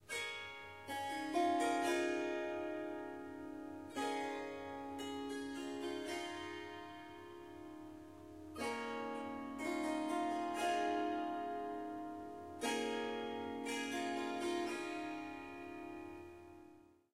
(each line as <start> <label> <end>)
0.1 Harp Melody 16.7